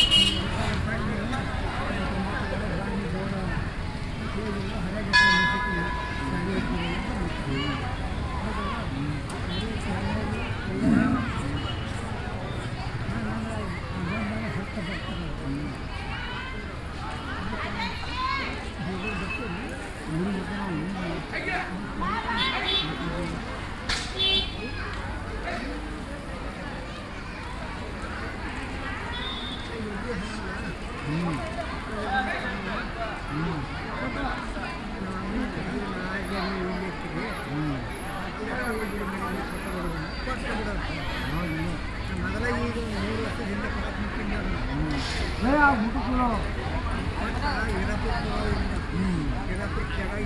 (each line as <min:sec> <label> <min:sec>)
0:05.1 Bell 0:07.1